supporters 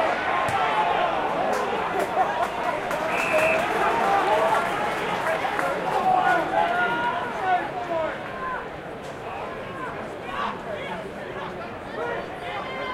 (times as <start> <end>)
0.0 8.6